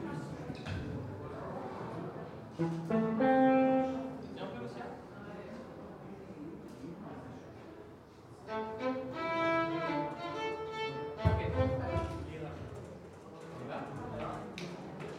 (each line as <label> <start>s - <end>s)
Music 2.6s - 4.1s
Music 8.5s - 12.2s